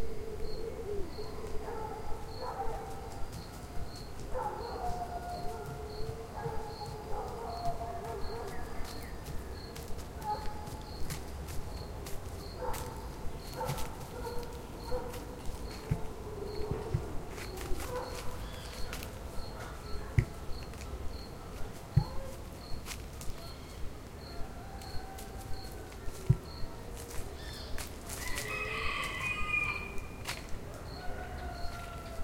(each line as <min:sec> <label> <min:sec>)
0:01.2 barks 0:03.4
0:04.2 barks 0:09.1
0:10.2 barks 0:10.8
0:12.6 barks 0:20.6
0:23.2 chickens around the mic 0:32.2